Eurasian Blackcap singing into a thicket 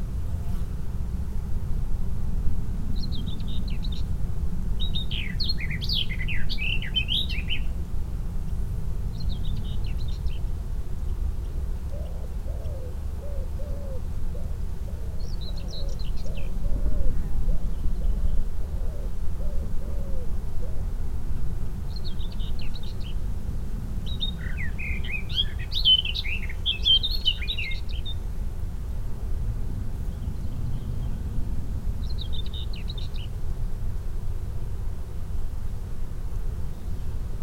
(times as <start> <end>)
3.0 7.8, 8.5 14.6, 15.2 18.5, 21.8 23.3, 23.9 28.3, 32.0 33.4